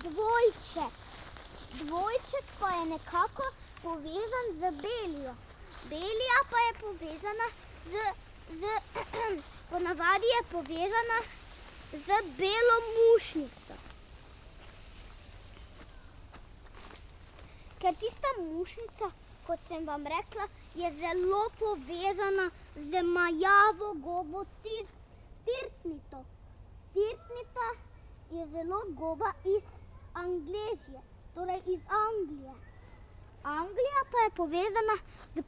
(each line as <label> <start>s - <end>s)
walking on a path through reeds 0.0s - 24.0s
walking on a path through reeds 32.9s - 35.4s